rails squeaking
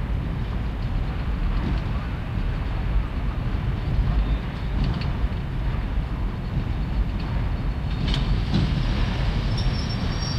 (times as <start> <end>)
8.2 10.3